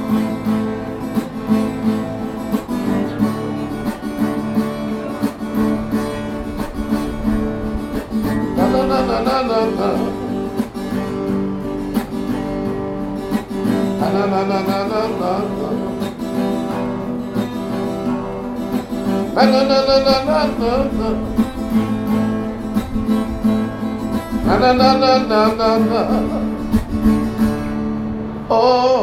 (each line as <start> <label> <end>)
0.0 older man playing on guitar 29.0
13.6 sing 17.0
19.0 sing 22.2